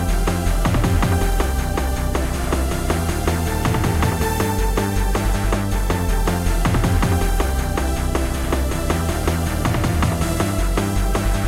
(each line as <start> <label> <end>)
0.0 Music loop 11.4